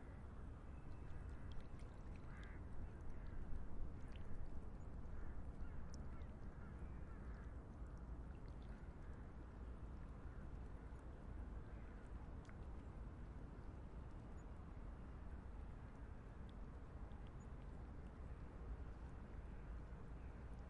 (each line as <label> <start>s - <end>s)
small waves 0.0s - 20.6s